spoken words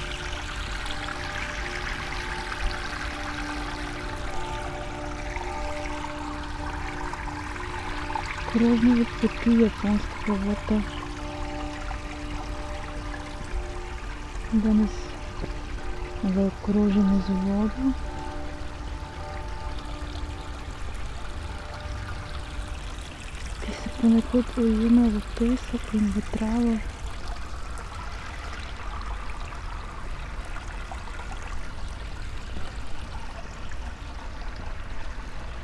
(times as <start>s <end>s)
8.6s 10.9s, 14.5s 15.0s, 16.2s 18.0s, 23.6s 26.8s